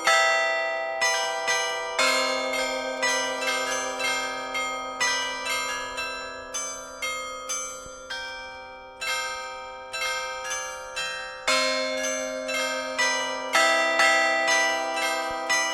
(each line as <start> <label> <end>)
0.0 Carillon de l'Hôtel de ville 15.7